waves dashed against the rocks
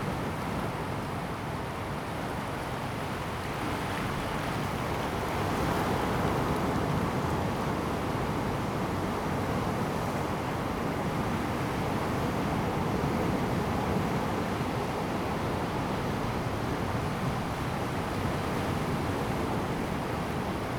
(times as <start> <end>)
15.4 20.7